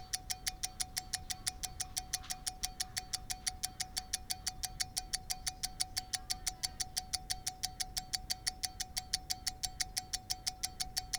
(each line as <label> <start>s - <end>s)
rotary pocket skeleton watch ticking 0.0s - 11.1s